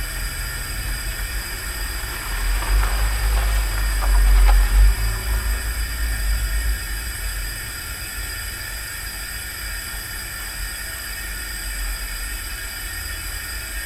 cars driving nearby 0.0 - 8.1
Steady hum of gas 0.0 - 13.8

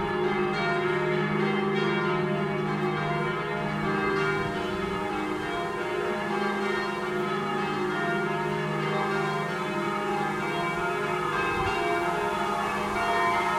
Bells 0.0 - 13.5
slight wind distortion on the microphone 11.4 - 13.5

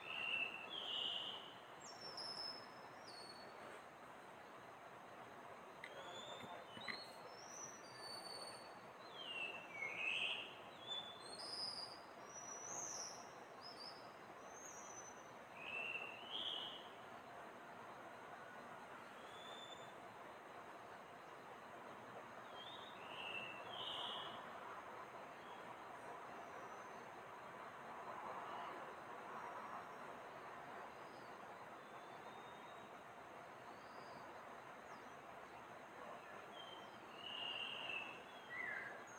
Taiwan Whistling Thrush 0.0 - 3.7
Taiwan Whistling Thrush 5.8 - 16.9
Taiwan Whistling Thrush 19.0 - 20.0
Taiwan Whistling Thrush 22.4 - 24.4
Taiwan Whistling Thrush 30.9 - 33.0
Taiwan Whistling Thrush 33.6 - 35.3
Taiwan Whistling Thrush 36.1 - 39.1

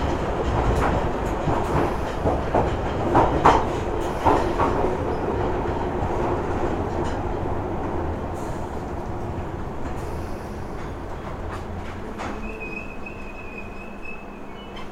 Underground train approaching 0.0 - 14.9

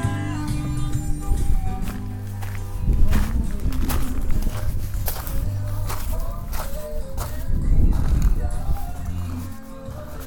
western music 0.0 - 10.2
foot steps on stoney ground 1.6 - 10.2

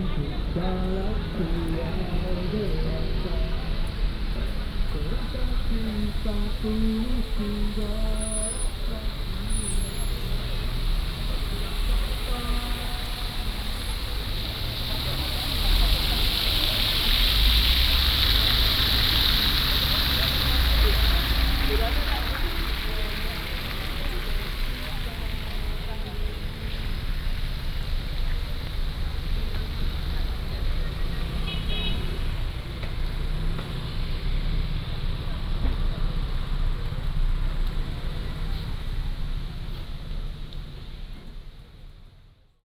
fountain 0.0 - 42.0
Walking in the square 0.0 - 42.6
Traffic sound 0.0 - 42.6

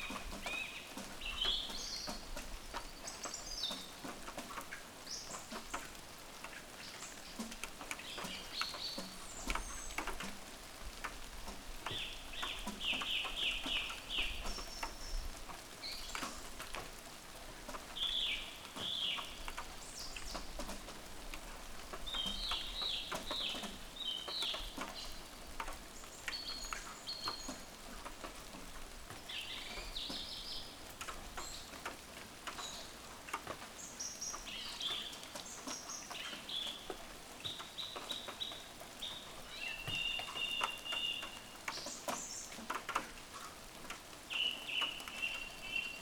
Birds 0.0 - 46.0
Rain 0.0 - 46.0

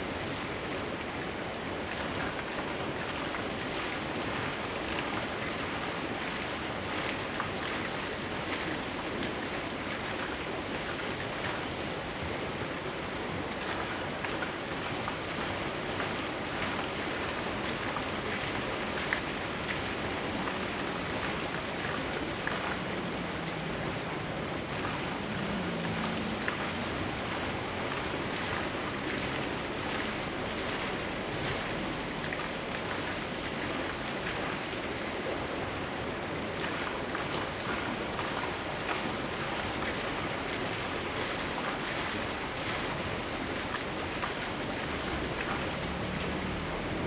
Waterwheel 0.0 - 47.0
Streams of sound 16.8 - 33.8

